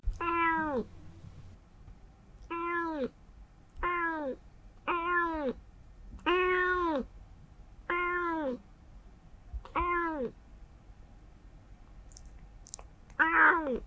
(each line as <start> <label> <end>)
0.2 Meows-Annoyed 0.9
2.5 Meows-Annoyed 3.1
3.8 Meows-Annoyed 5.6
6.2 Meows-Annoyed 7.1
7.9 Meows-Annoyed 8.6
9.7 Meows-Annoyed 10.4
13.2 Meows-Annoyed 13.8